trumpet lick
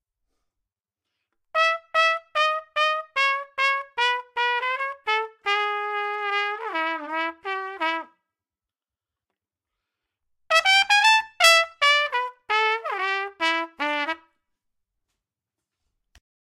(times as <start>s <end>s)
1.1s 8.1s, 10.5s 14.3s